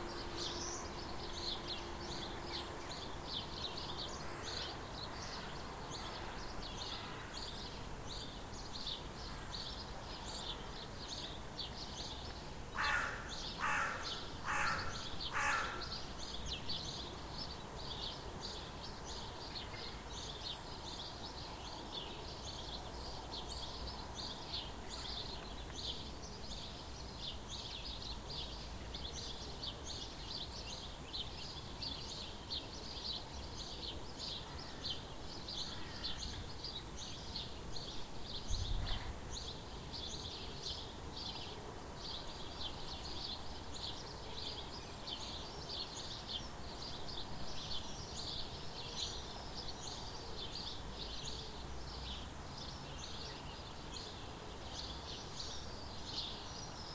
sparrows 0.0 - 56.9
crow 12.8 - 16.0
crow 35.6 - 36.4

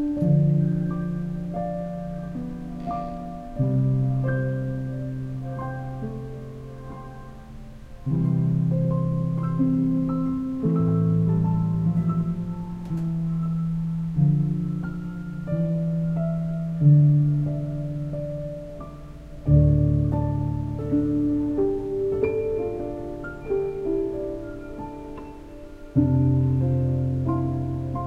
Melodic piano 0.0 - 28.0

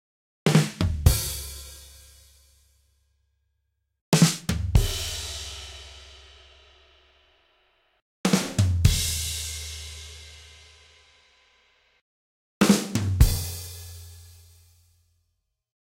drum 0.5 - 2.0
drum 4.2 - 6.0
drum 8.3 - 10.2
drum 12.6 - 14.2

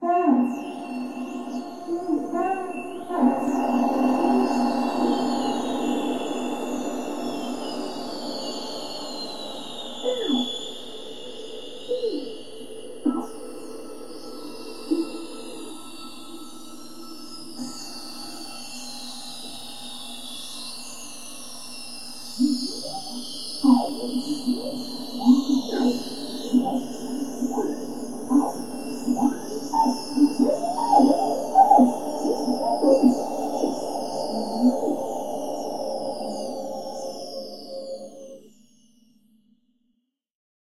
female whale love song 0.0 - 9.1
female whale love song 22.4 - 38.4

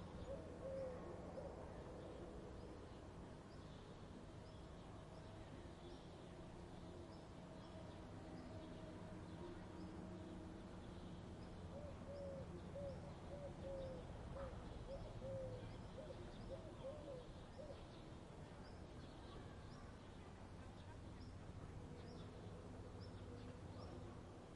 birds 0.0 - 24.5

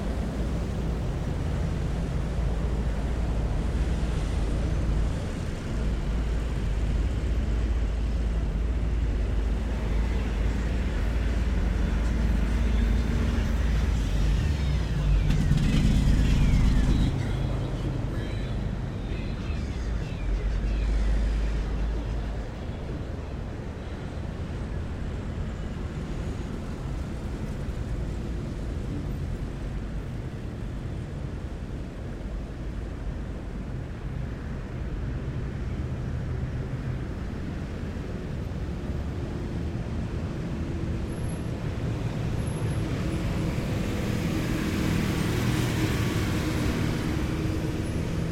Stop and go highway traffic 0.0 - 48.3
trucks 0.0 - 48.3

